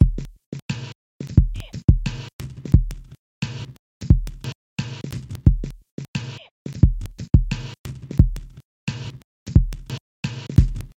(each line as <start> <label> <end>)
1.4 hi-hats 3.1
6.8 bass 10.9
10.2 snare 10.9